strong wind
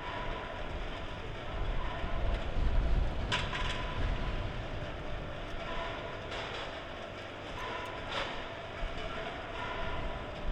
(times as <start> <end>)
0.7 6.2